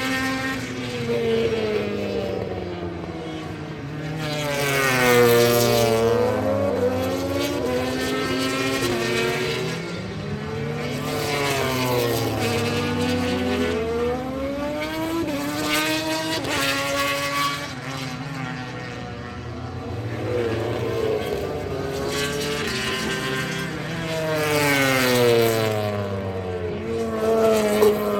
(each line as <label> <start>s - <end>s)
motorcycle grand prix 0.0s - 28.1s